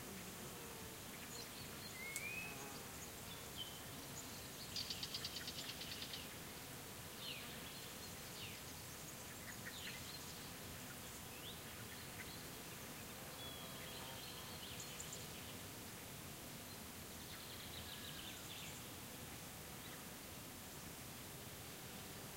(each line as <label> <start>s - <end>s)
insects buzzing 0.0s - 22.3s